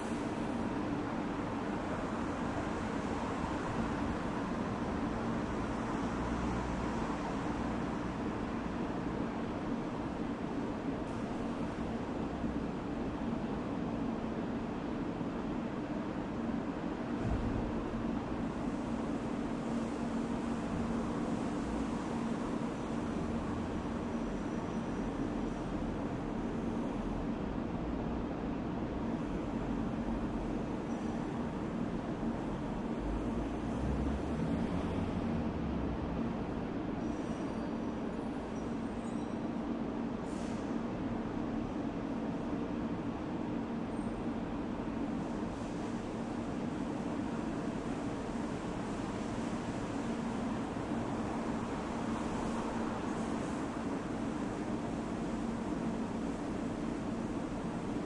31.5s cars 37.0s

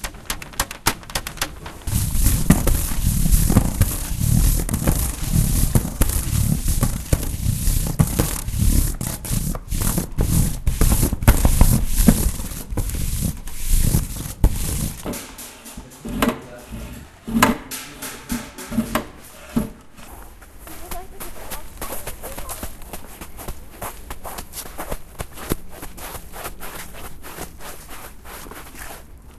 0.0s taping 29.1s

